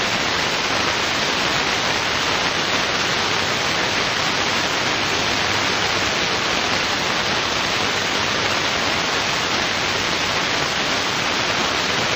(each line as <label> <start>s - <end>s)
burst of white noise with some static spikes 0.0s - 12.1s